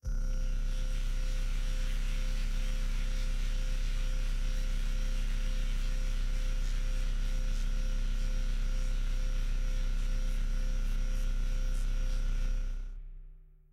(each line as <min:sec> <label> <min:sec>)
0:00.0 sci-fi drone 0:07.6